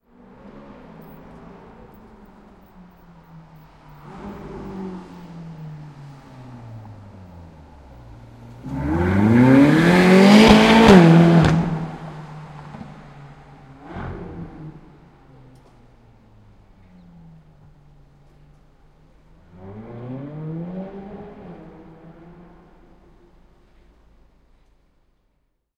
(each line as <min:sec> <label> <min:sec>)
0:00.0 Sports car passing by in the street from left to right 0:24.9